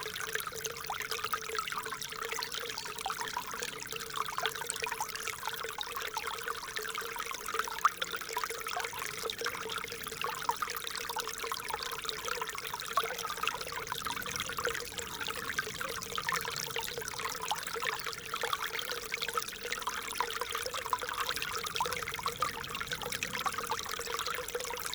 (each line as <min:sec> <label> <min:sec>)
0:00.0 small Ry Pirot stream 0:24.9